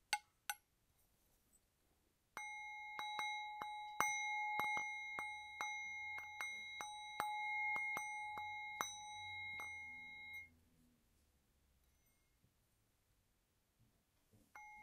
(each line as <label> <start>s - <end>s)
Tibetan Singing Bowls 2.4s - 10.5s